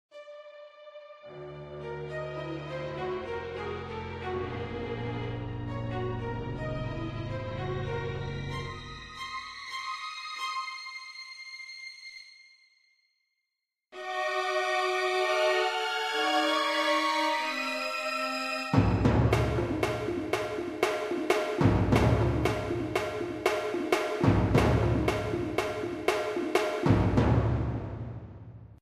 music 0:00.1 - 0:12.8
music 0:14.0 - 0:28.8

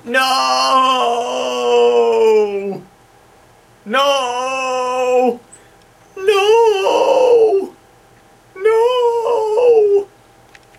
yell 0:00.0 - 0:02.9
yell 0:03.9 - 0:05.4
yell 0:06.1 - 0:07.8
yell 0:08.6 - 0:10.1

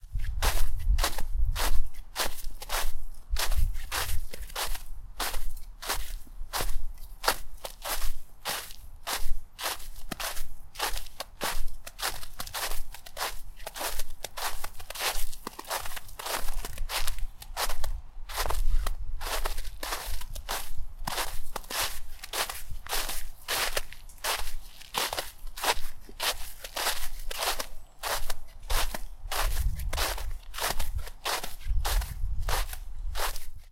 footsteps in a thin layer of snow-topped grass 0:00.0 - 0:33.7

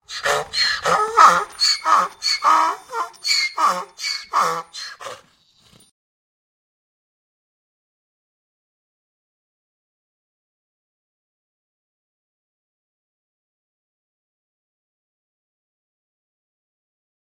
donkey crying 0:00.0 - 0:05.3

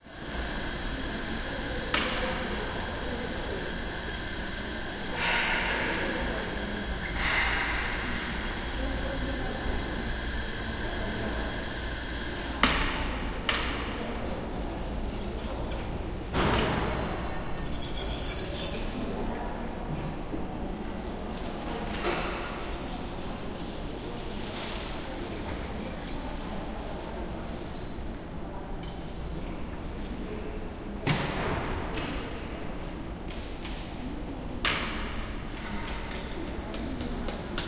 People in the background 0:00.0 - 0:37.6
machine 0:05.0 - 0:08.6
machine 0:12.0 - 0:18.9
People cleaning the floor 0:12.2 - 0:16.9
People cleaning the floor 0:17.6 - 0:19.4
People cleaning the floor 0:21.0 - 0:27.7
People cleaning the floor 0:35.5 - 0:37.6

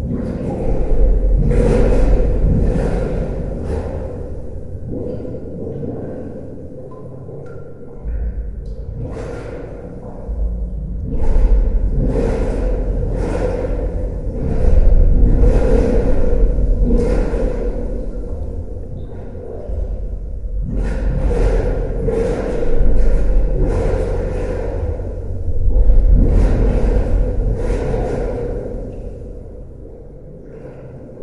Water Running Underground 0:00.0 - 0:31.2

